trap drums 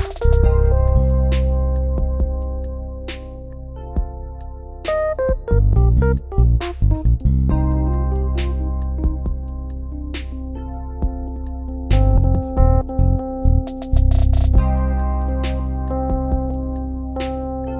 0.0 0.5

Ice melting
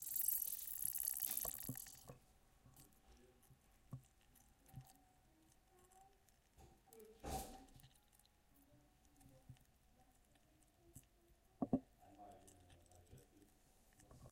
0.0 2.1

